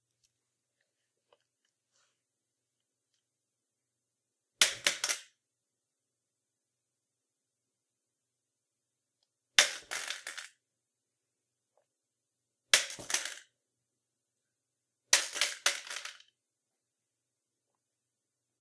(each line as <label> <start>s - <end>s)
dropping crutches on tile 12.8s - 13.5s
dropping crutches on tile 15.2s - 16.3s